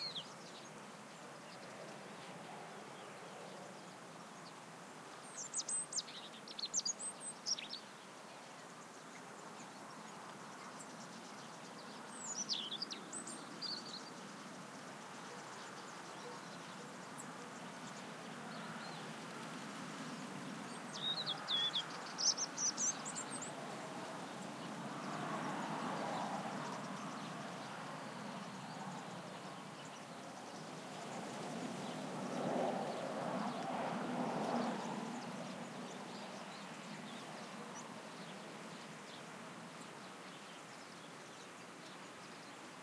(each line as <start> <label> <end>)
10.6 bird calls 19.6
15.1 distant vehicles 40.2
20.5 bird calls 31.2